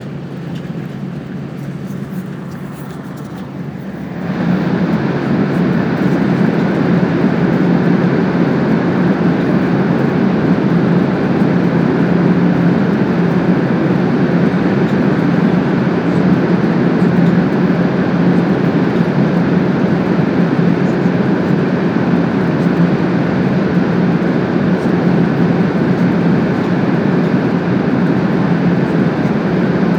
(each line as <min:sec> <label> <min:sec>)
0:00.0 High Speed Train (AVE) running at 300 km/h 0:29.9